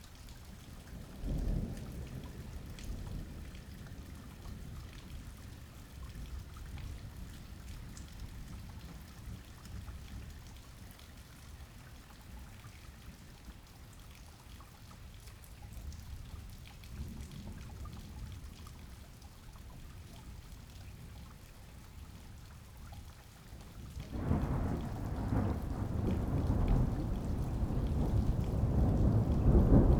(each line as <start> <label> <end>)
0.0 raindrops 29.9
24.0 thunder 29.9